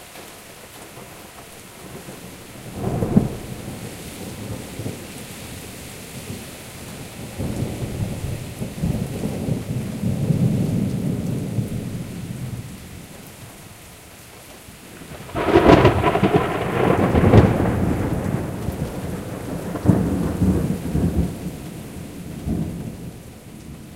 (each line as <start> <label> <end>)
0.0 downpour 23.9